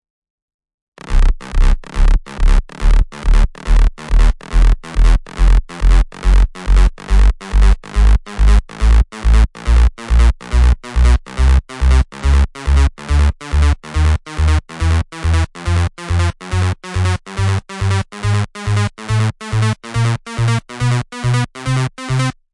1.0s Bassline 22.4s

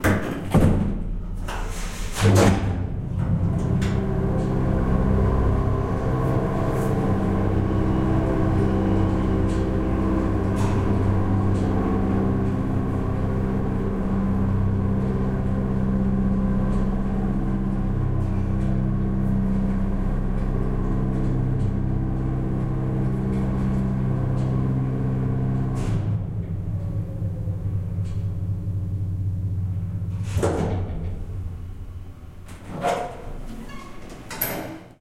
0.0s old freight elevator with heavy metal wing doors 35.0s

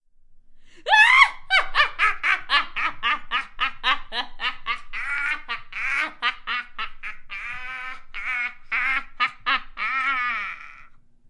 0.8s maniacal 11.0s

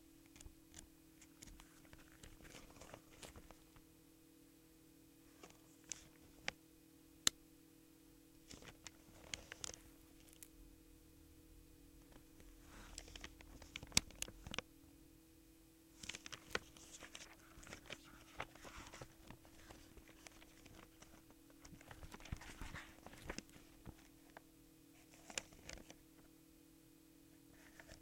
0.3s opening, turning and folding a magazine 3.6s
8.5s opening, turning and folding a magazine 10.5s
12.9s opening, turning and folding a magazine 14.6s
16.0s opening, turning and folding a magazine 24.3s
25.1s opening, turning and folding a magazine 26.0s

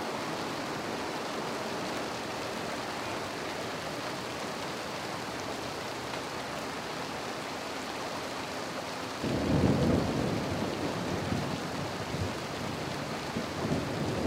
0.0s Raindrops 14.2s
9.3s Thunder 12.3s

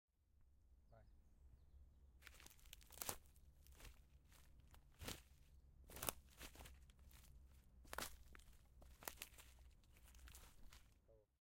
2.2s Walking Through Autumn Leaves 11.0s

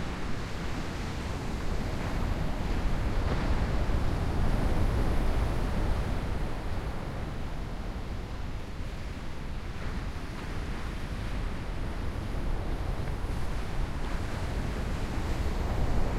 0.0s wind 16.1s

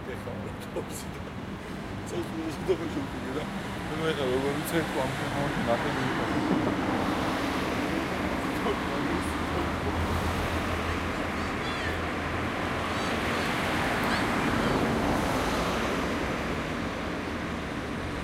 0.0s traffic 18.2s

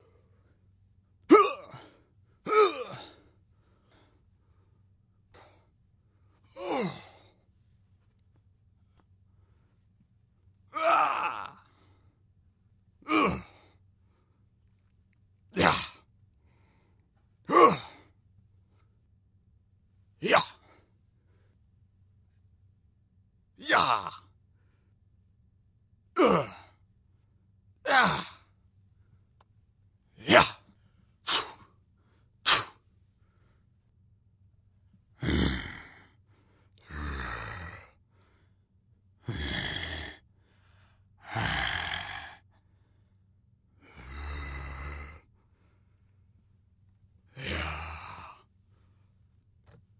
10.8s growl 11.6s
13.1s growl 13.6s
15.6s growl 16.0s
17.5s growl 18.0s
20.2s vocal fight type sounds 20.6s
23.6s growl 24.3s
26.2s growl 26.7s
30.2s vocal fight type sounds 30.6s
31.3s vocal fight type sounds 31.6s
32.4s spit 32.8s
32.5s vocal fight type sounds 32.8s
35.2s growl 36.1s
36.8s growl 38.0s
39.2s growl 40.2s
41.2s growl 42.4s
43.8s growl 45.3s
47.3s growl 48.4s

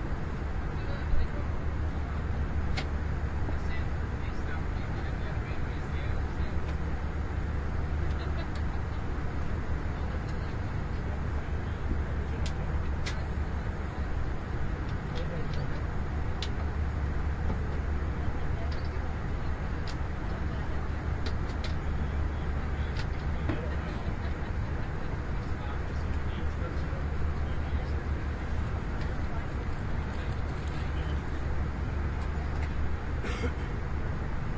0.0s Airbus during flight 34.5s

